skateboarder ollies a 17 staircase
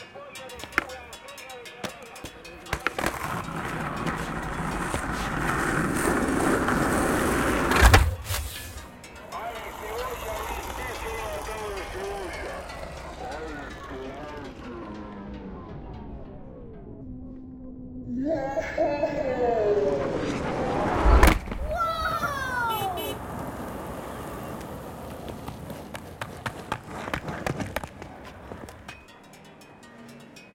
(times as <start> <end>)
1.8 8.8